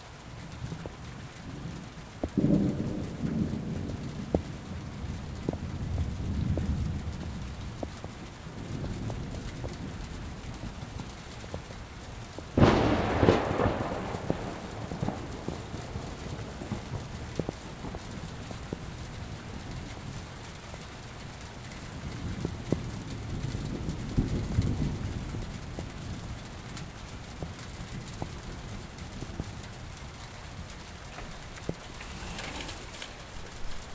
rain 0.0 - 33.9
thunder 1.5 - 11.7
thunder 12.4 - 20.3
thunder 21.8 - 29.5
thunder 31.2 - 33.9

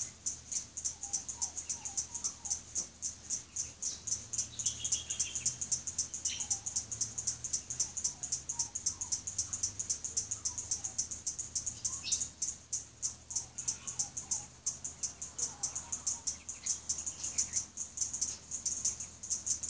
Cicadas click and sing loudly 0.0 - 19.6
butcher birds 0.0 - 19.6
fairy wren 0.0 - 19.6
magpies 0.0 - 19.6
occasional distant car 0.0 - 19.6

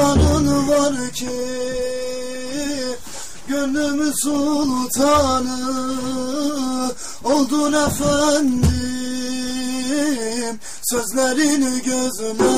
bendir 0.0 - 2.7
Sufi Song 0.0 - 12.5

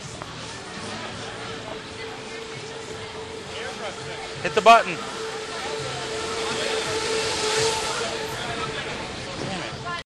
Tram car 0.0 - 10.0

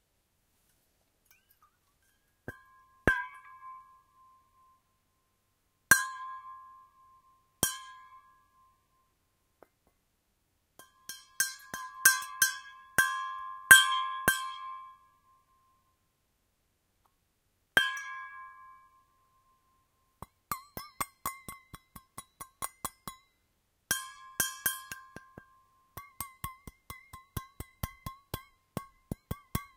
Stainless Steel Bottle with Water Percussion 1.2 - 4.8
Stainless Steel Bottle with Water Percussion 5.9 - 7.0
Stainless Steel Bottle with Water Percussion 7.6 - 8.6
Stainless Steel Bottle with Water Percussion 10.8 - 15.0
Stainless Steel Bottle with Water Percussion 17.8 - 19.1
Stainless Steel Bottle with Water Percussion 20.2 - 29.7

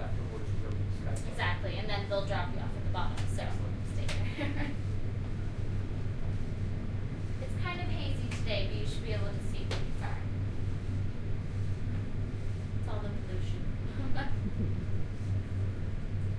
riding the elevator 1.3 - 16.3

